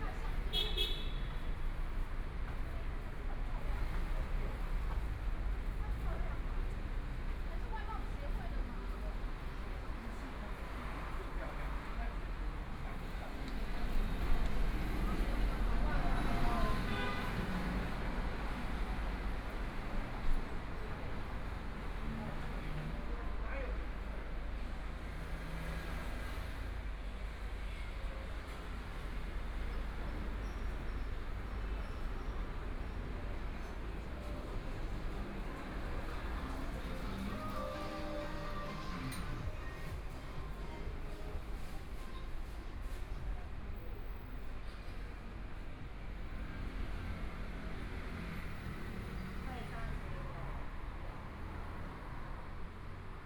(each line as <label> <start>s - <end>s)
Pedestrians on the road 0.0s - 53.2s
Traffic Sound 0.0s - 53.2s
walking on the Road 28.3s - 53.2s